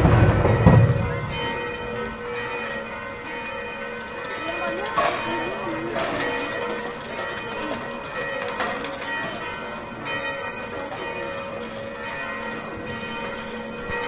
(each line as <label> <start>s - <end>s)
Bells tolling in background 0.0s - 14.0s